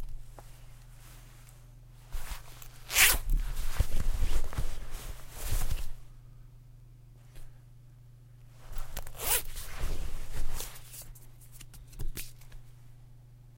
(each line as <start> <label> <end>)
2.9 unzipping 3.3
8.7 unzipping 9.9